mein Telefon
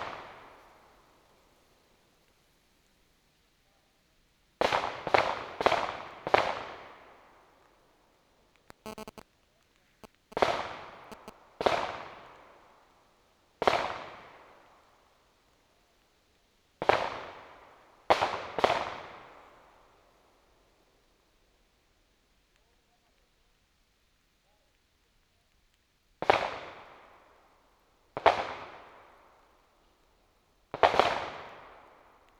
0:08.7 0:09.2, 0:11.1 0:11.3

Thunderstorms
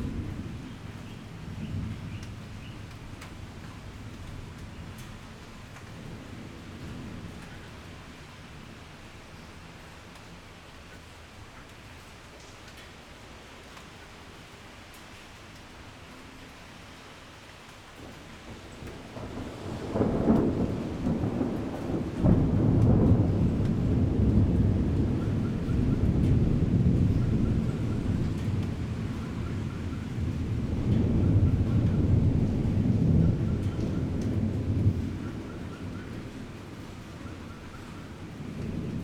0:00.0 0:08.0, 0:18.0 0:39.0

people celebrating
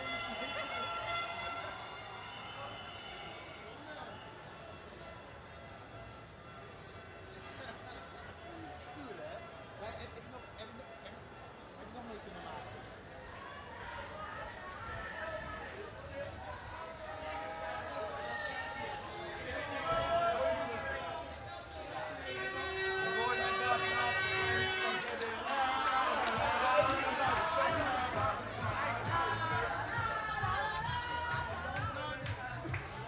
0:13.2 0:33.0

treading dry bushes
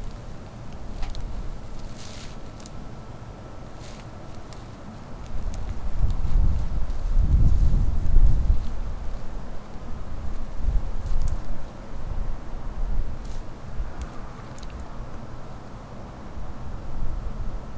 0:00.0 0:11.8

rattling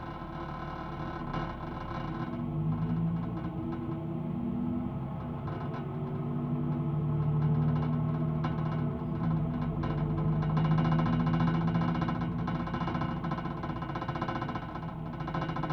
0:05.1 0:15.7

